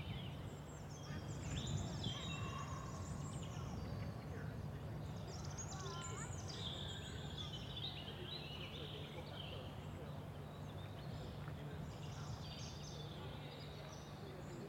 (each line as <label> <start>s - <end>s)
birdsong 0.0s - 14.6s